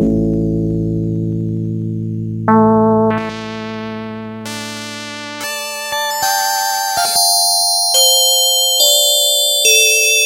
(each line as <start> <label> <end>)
0.0 keyboard with built-in FM-synthesizer 10.2